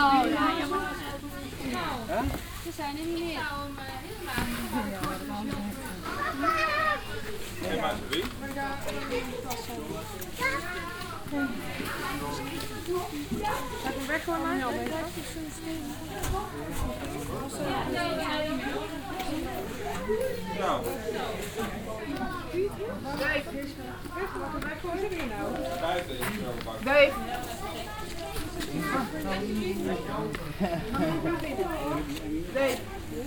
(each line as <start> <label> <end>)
0.0 group of dutch tourist exit the tunnel 33.2